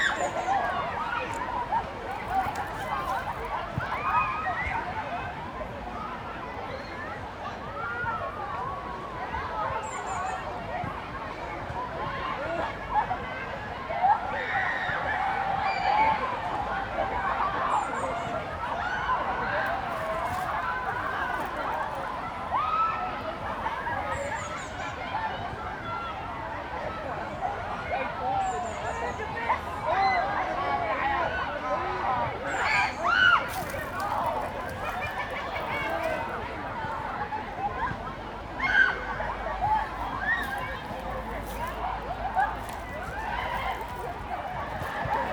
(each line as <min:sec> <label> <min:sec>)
0:00.0 Kids, and others, enjoying open air swimming 0:45.3